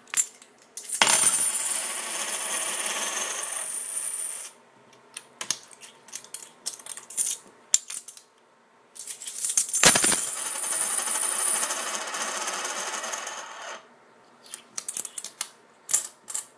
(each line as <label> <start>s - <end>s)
d2's (coins) rolling on various surfaces 1.0s - 4.6s
d2's (coins) rolling on various surfaces 9.8s - 13.9s